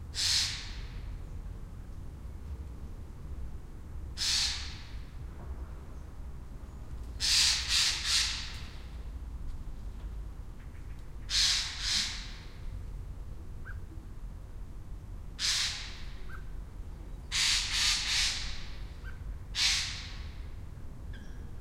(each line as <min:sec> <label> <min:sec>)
0:00.2 magpie 0:00.8
0:04.2 magpie 0:04.9
0:11.3 magpie 0:12.4
0:15.4 magpie 0:16.5
0:17.3 magpie 0:20.3